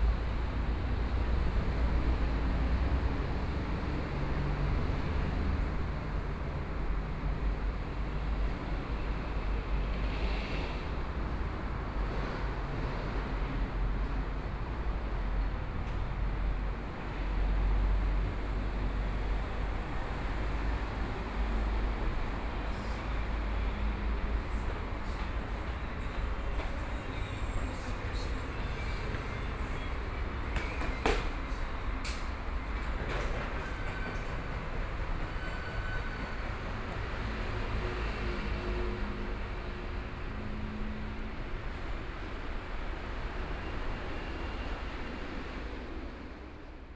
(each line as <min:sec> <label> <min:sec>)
0:22.7 Walking 0:34.6